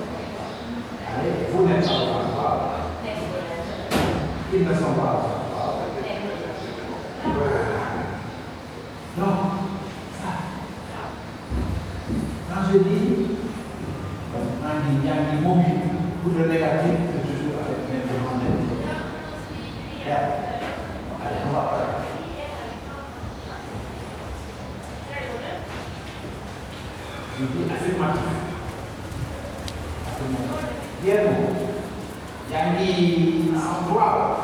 Wolof language class 0:00.0 - 0:34.4

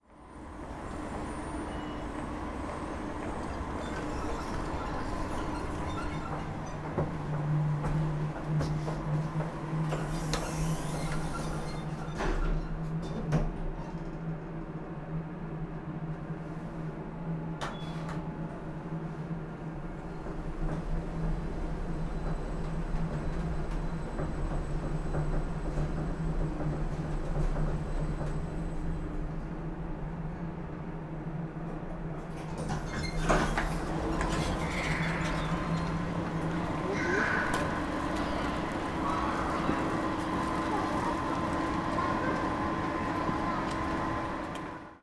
elevator from ground floor to 1st level 0:00.2 - 0:14.3
elevator from ground floor to 1st level 0:17.7 - 0:45.0

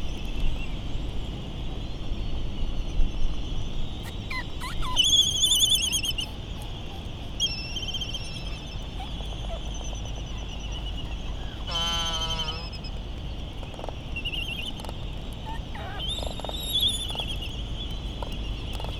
island traffic noise 0:03.4 - 0:18.9
laysan calls 0:03.9 - 0:13.2
laysan calls 0:14.2 - 0:18.9

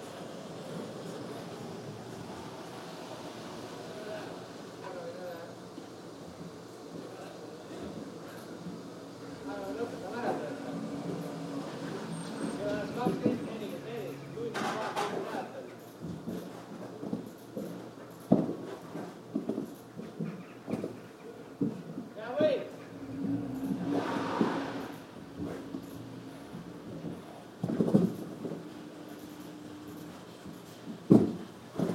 Shovellers of snow work on the roof 0:23.0 - 0:26.4

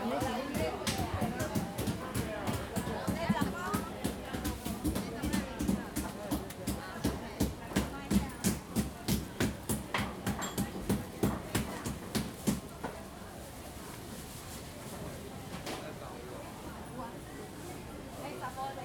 butcher beating the pork 0:00.2 - 0:12.6

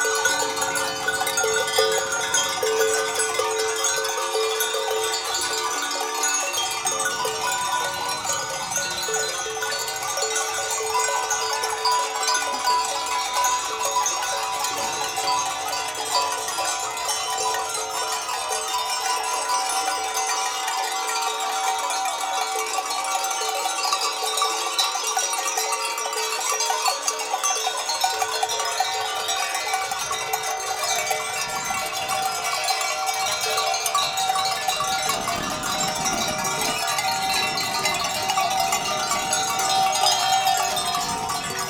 Ziegen mit ihren Glocken 0:00.0 - 0:41.6

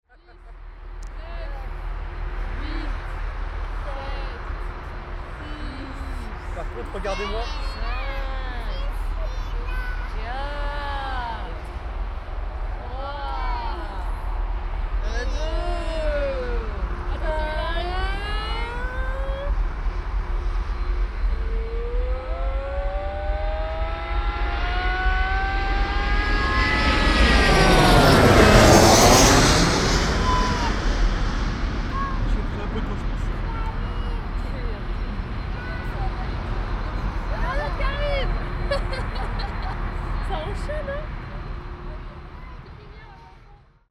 plane landing, just above your head 0:13.6 - 0:43.6

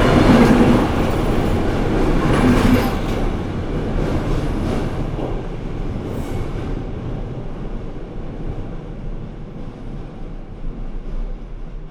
Trains inside the tunnel 0:00.0 - 0:11.9

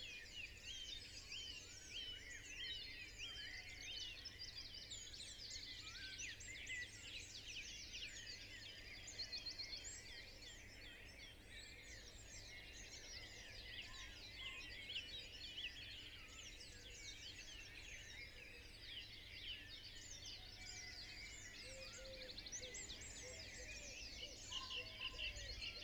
pheasant 0:19.5 - 0:25.8

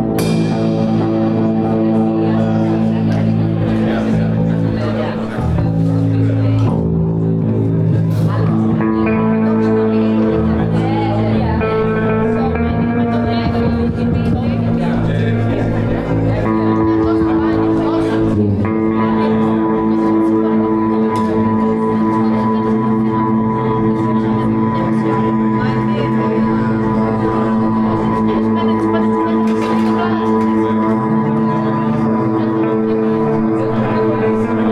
drums 0:00.0 - 0:03.4
guitars 0:00.0 - 0:34.7
lute 0:00.0 - 0:34.7

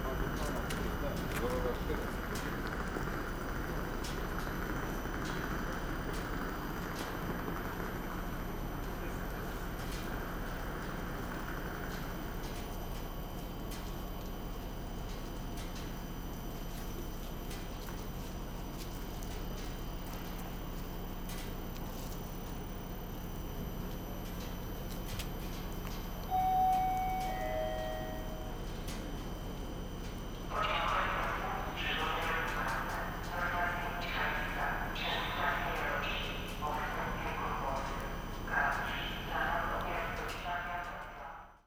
departure and arival announcements 0:00.0 - 0:13.9
glitchy sound of the train nearby 0:00.0 - 0:41.6
departure and arival announcements 0:22.3 - 0:41.6

